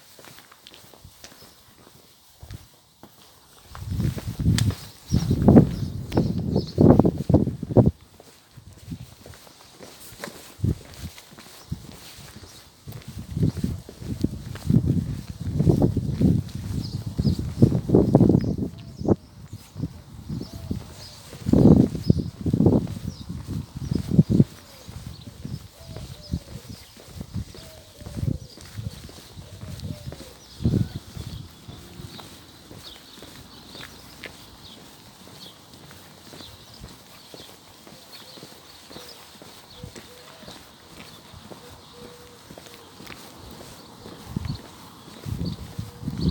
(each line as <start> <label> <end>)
0.1 Walking 46.3